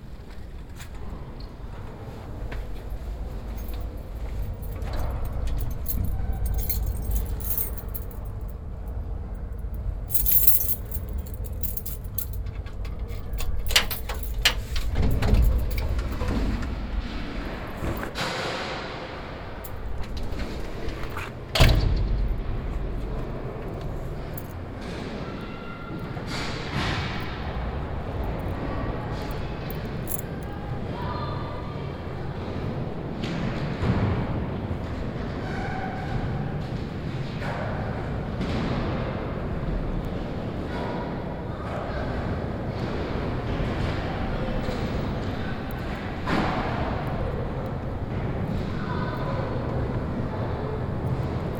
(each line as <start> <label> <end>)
9.6 scaters in the indoor scating hall 51.5